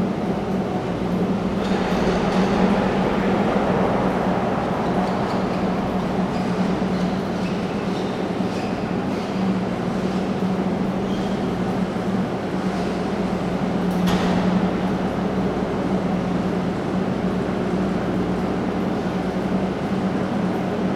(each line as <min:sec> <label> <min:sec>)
0:00.0 cableway cars arriving every few seconds 0:20.9
0:00.0 drone of machinery 0:10.0